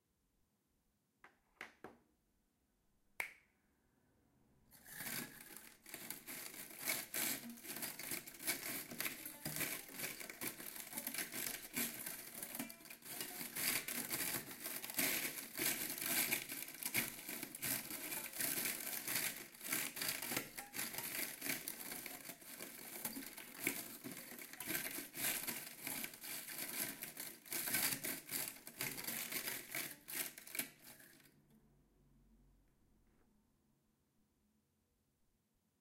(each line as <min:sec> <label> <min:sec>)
0:04.8 steelbrush being forced and rubbed over strings 0:31.3